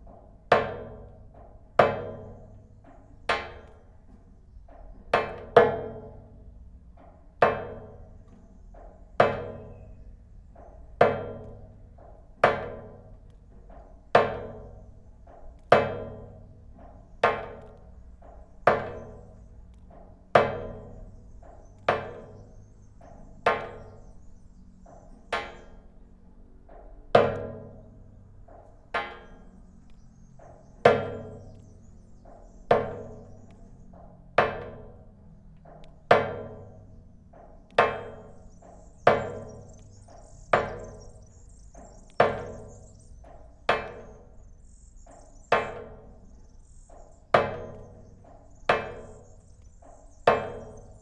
0.0s drops of water falling in a long rainwater pipe 25.9s
26.6s drops of water falling in a long rainwater pipe 51.0s

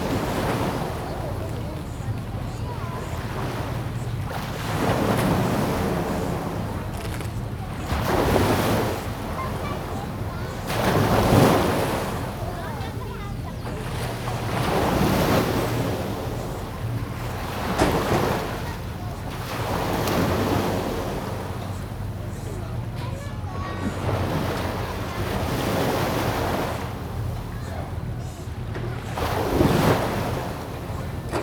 0.0s Yacht travel by river 31.4s
0.0s tide 31.4s

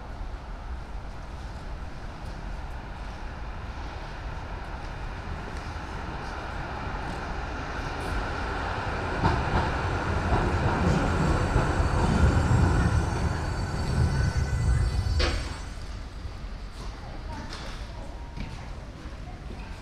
0.0s Trains driving in 19.3s

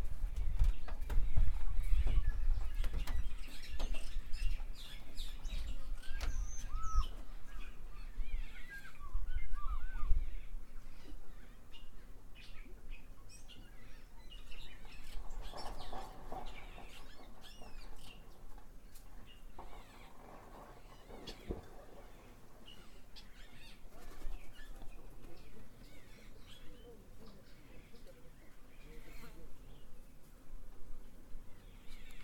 0.0s birds 32.2s

